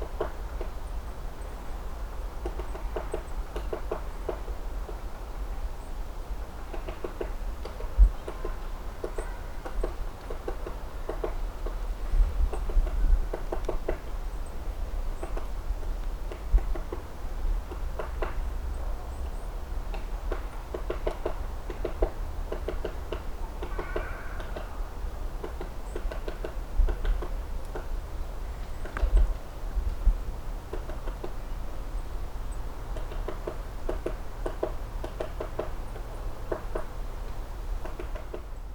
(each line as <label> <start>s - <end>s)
woodpecker 6.7s - 11.8s
woodpecker 19.9s - 24.8s
woodpecker 25.4s - 27.9s
woodpecker 32.5s - 37.0s
woodpecker 37.8s - 38.6s